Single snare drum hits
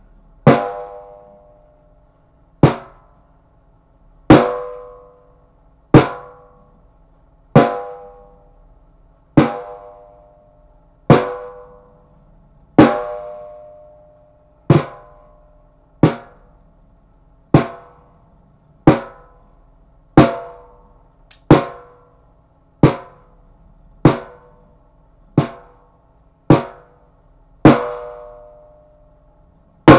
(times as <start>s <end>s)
21.3s 21.9s, 22.8s 23.2s, 25.4s 25.7s, 26.5s 26.8s